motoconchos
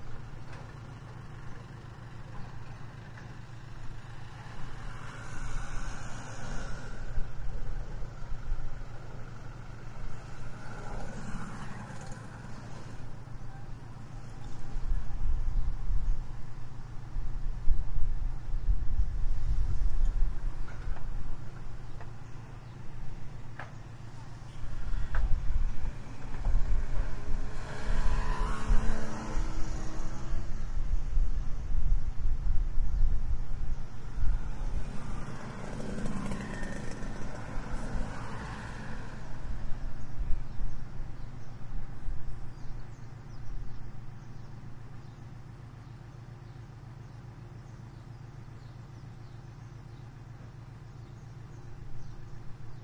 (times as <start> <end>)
33.8 44.4